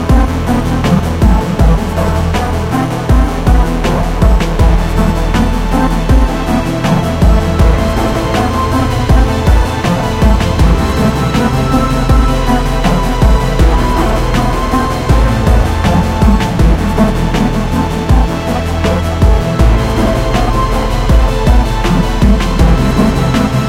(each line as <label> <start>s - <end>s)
synth 0.0s - 23.6s